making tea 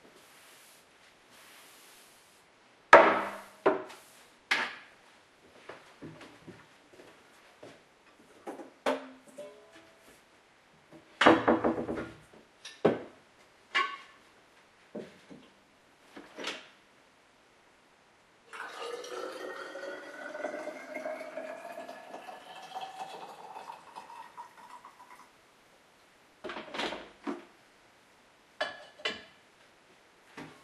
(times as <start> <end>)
18.5 25.3